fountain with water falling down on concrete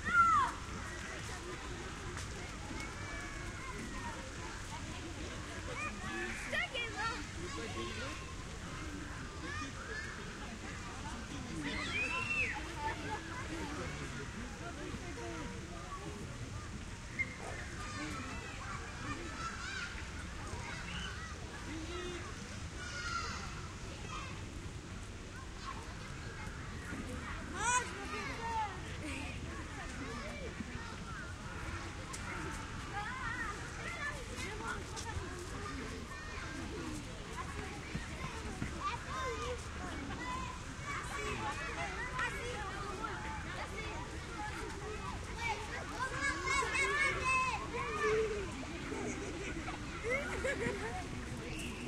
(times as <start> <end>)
0.0 26.9